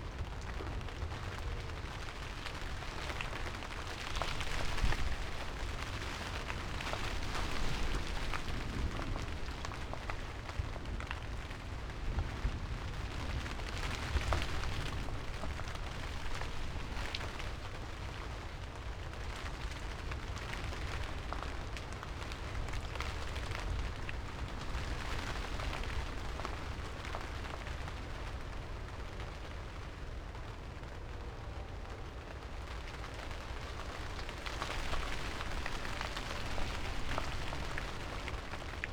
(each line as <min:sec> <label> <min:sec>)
0:00.0 thunderstorm 0:38.9